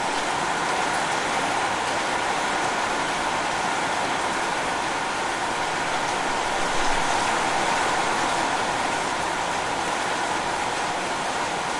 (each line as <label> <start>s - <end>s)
Heavy rain on roofs 0.0s - 11.7s